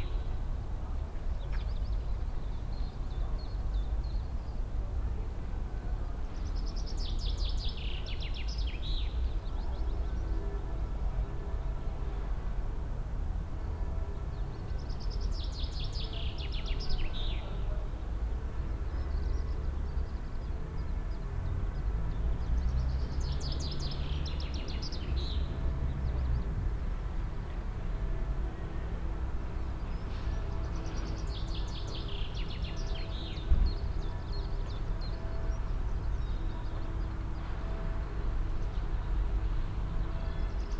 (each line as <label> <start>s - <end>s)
trains passing by 0.0s - 40.7s
announcements of the near station in the distance 4.6s - 20.2s
church bells of the town in the distance 7.2s - 40.7s
announcements of the near station in the distance 27.4s - 40.7s